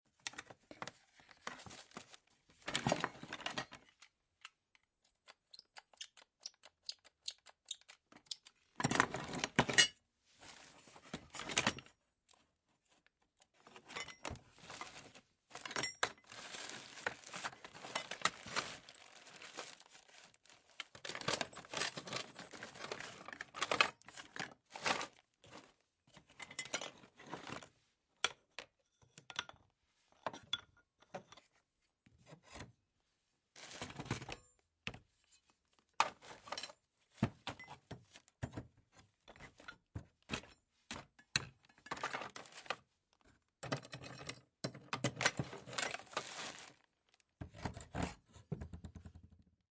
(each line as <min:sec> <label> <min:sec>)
0:00.2 Person opens a case with various stuff in it 0:04.1
0:13.6 Person opens a case with various stuff in it 0:27.7
0:33.6 Person opens a case with various stuff in it 0:35.1
0:35.9 Person opens a case with various stuff in it 0:42.9
0:43.6 Person opens a case with various stuff in it 0:49.2